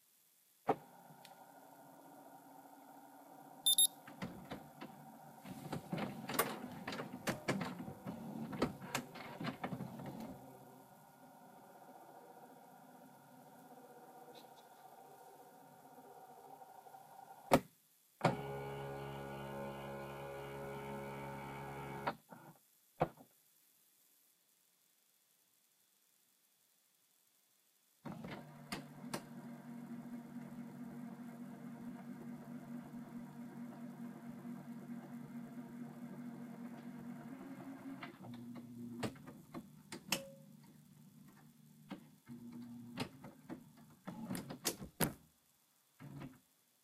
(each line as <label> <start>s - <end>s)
beep 3.7s - 3.9s
printer 3.7s - 10.6s
printer 18.2s - 22.5s
printer 28.1s - 39.2s